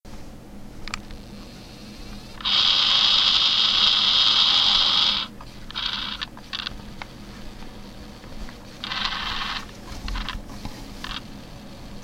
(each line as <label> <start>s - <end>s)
MiniDisc recorder spinning the disc to a blank spot 0.9s - 12.0s